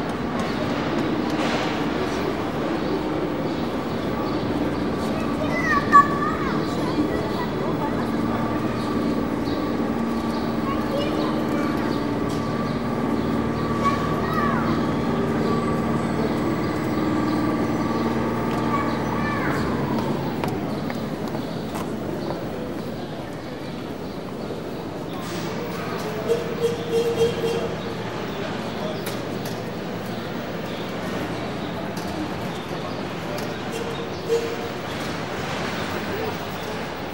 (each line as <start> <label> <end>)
0.0 station waggons 22.7
0.0 passing steps 24.4
0.0 announcements 37.1
0.0 train arrives 37.1
0.0 voices 37.1